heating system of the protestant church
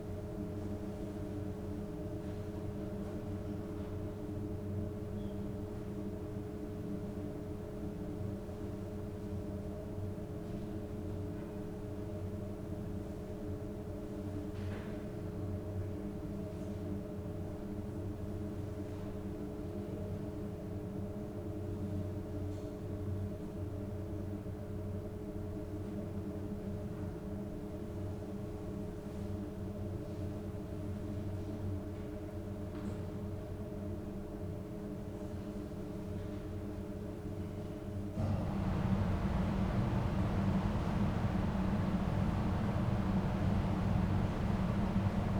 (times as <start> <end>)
38.2 45.3